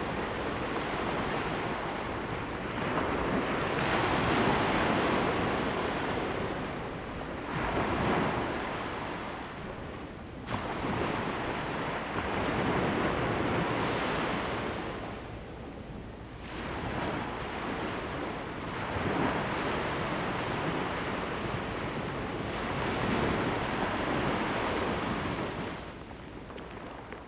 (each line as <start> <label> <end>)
16.4 waves 27.2